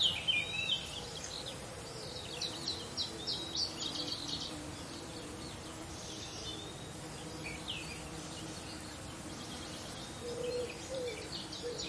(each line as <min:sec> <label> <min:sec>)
0:00.0 birds singing 0:11.8
0:00.0 insects buzzing 0:11.8
0:10.2 wood pigeon 0:11.8